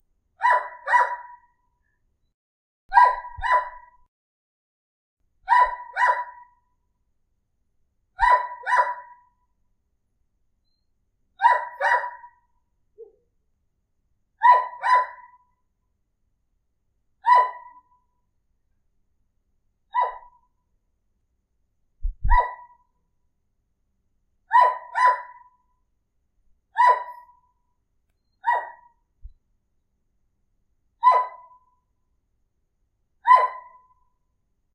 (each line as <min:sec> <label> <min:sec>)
0:00.4 Dog bark 0:01.6
0:02.9 Dog bark 0:04.1
0:05.4 Dog bark 0:06.7
0:08.2 Dog bark 0:09.4
0:11.4 Dog bark 0:13.2
0:14.4 Dog bark 0:15.6
0:17.2 Dog bark 0:18.0
0:19.9 Dog bark 0:20.5
0:22.2 Dog bark 0:22.9
0:24.5 Dog bark 0:25.7
0:26.7 Dog bark 0:27.5
0:28.4 Dog bark 0:29.1
0:31.0 Dog bark 0:31.8
0:33.2 Dog bark 0:34.0